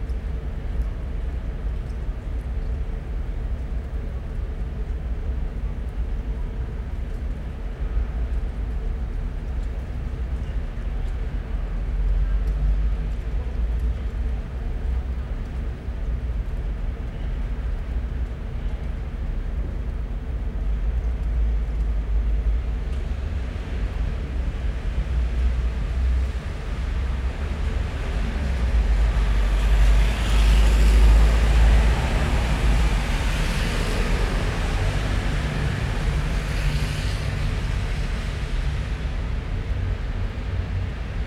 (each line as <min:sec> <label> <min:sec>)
0:00.0 City centre hum 0:41.2